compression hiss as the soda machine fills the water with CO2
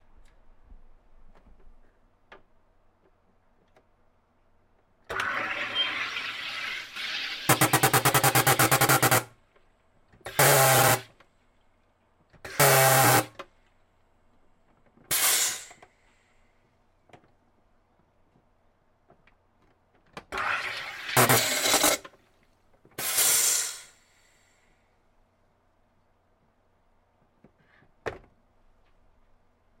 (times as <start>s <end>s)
5.1s 9.2s, 10.3s 11.0s, 15.1s 15.8s, 20.4s 22.0s, 23.0s 24.0s